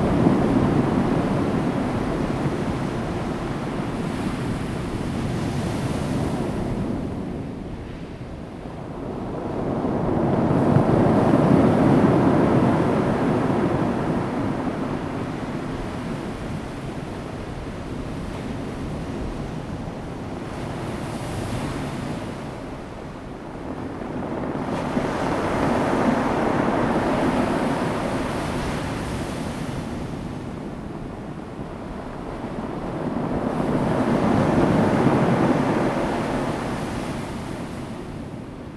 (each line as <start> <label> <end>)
0.0 waves 38.7